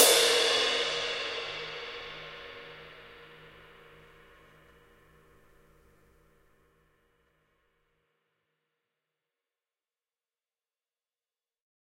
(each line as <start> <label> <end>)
0.0 ride cymbal 5.7